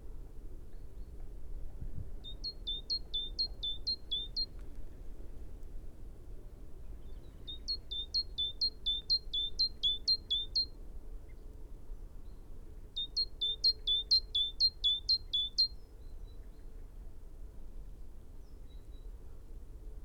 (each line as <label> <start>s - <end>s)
background noise 0.0s - 20.0s
calls and song from a bird 2.2s - 4.6s
calls and song from a bird 7.0s - 10.7s
calls and song from a bird 13.0s - 16.4s